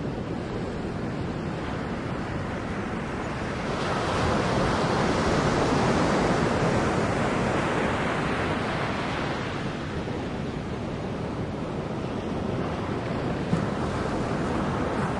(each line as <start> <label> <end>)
0.0 Waves coming to shore 15.1